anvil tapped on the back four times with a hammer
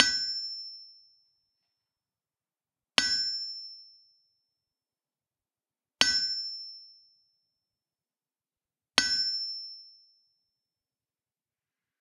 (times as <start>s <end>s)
0.0s 0.8s, 3.0s 3.8s, 6.0s 6.8s, 9.0s 9.8s